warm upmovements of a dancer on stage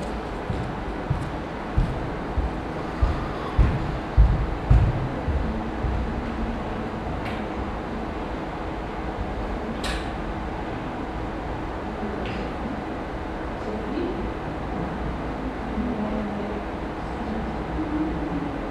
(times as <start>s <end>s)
0.0s 6.2s